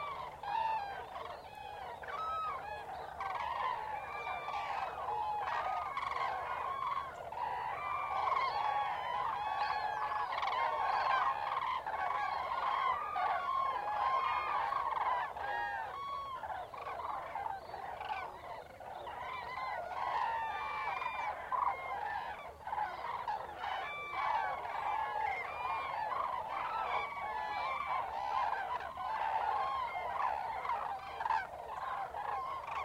cranes in a wetland 0:00.0 - 0:32.8

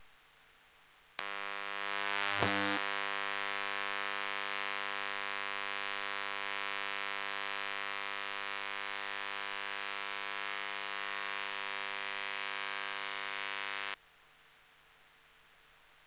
Small CFL Lamp 0:01.2 - 0:14.0

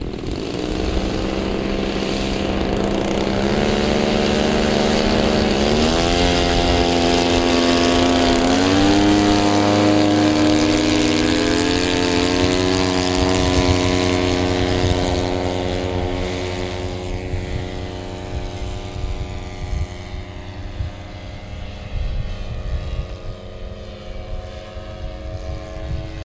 radio control warbirds taking off together 0:00.0 - 0:20.5

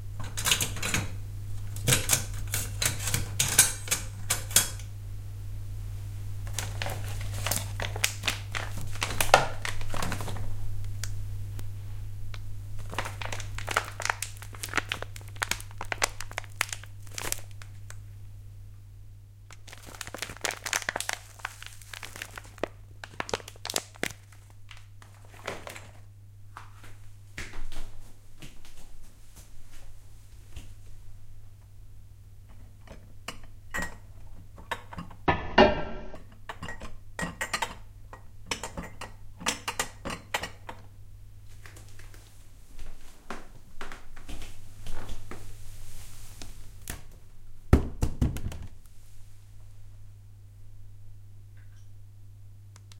kitchen utilities 0:00.0 - 0:49.8
bag 0:19.6 - 0:22.6

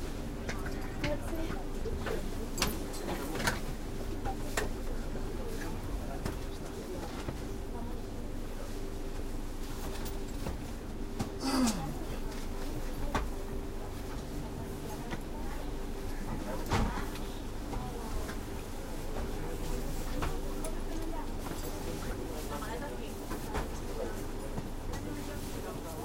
putting their bags on the rails 0:16.5 - 0:18.5

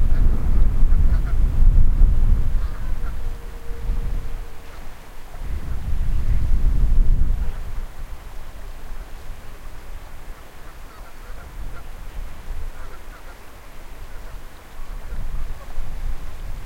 fast-flowing river 0:00.0 - 0:16.6
wind noise 0:00.0 - 0:16.6
bird calls echoing off the river 0:00.9 - 0:06.5
bird calls echoing off the river 0:10.3 - 0:12.0
bird calls echoing off the river 0:12.7 - 0:15.8

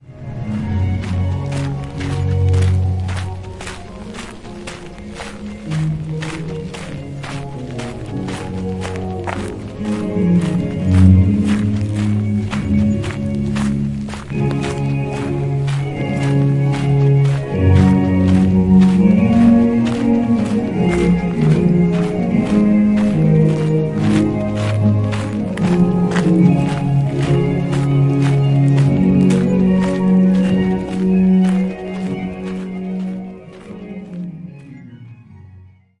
Music playing in background 0:00.0 - 0:36.0
Musical Fountains 0:00.0 - 0:35.4
Footsteps 0:00.4 - 0:34.9

